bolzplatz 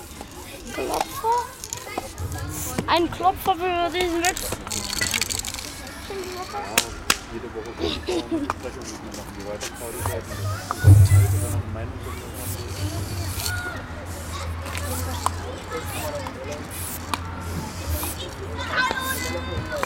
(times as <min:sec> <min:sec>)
0:10.2 0:13.6